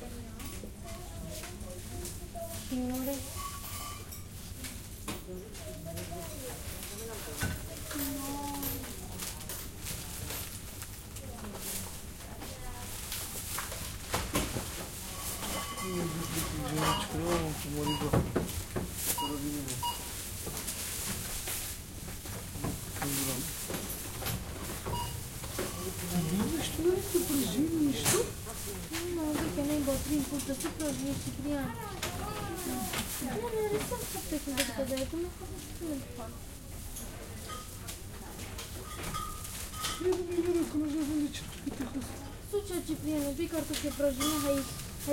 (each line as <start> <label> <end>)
0.0 people working and people buying 45.1
25.8 bags 36.0